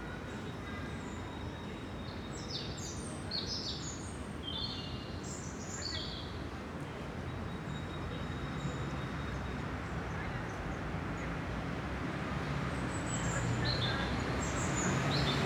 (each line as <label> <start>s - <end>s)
waves of traffic from above 8.5s - 15.4s